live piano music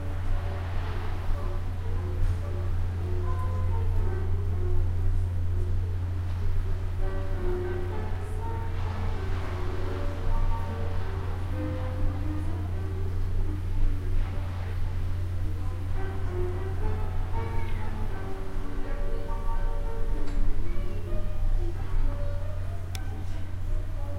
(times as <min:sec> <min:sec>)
0:06.4 0:24.1